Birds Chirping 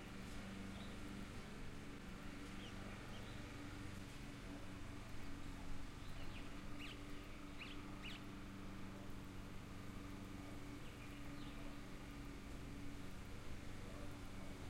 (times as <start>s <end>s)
0.6s 1.1s, 2.4s 3.8s, 5.9s 8.5s, 10.7s 12.2s